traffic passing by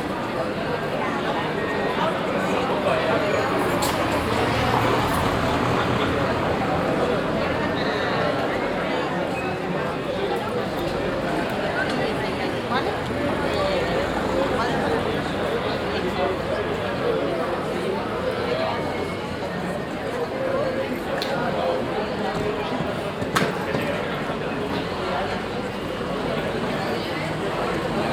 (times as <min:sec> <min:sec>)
0:02.1 0:21.9